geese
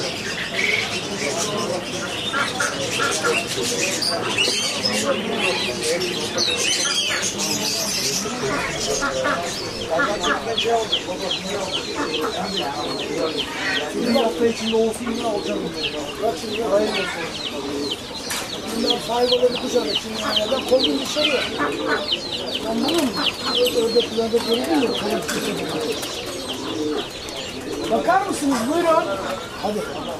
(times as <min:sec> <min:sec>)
0:00.1 0:05.6, 0:06.3 0:14.3, 0:19.8 0:24.3